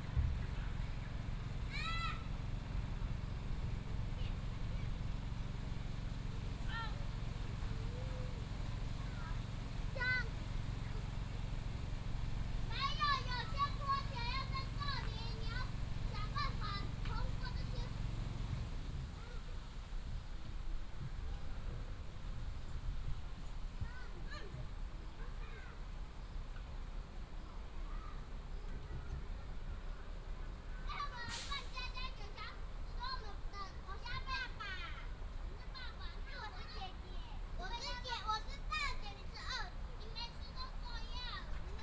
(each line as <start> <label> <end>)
1.6 School children's voice 2.3
6.6 School children's voice 11.3
12.6 School children's voice 18.2
30.7 School children's voice 41.8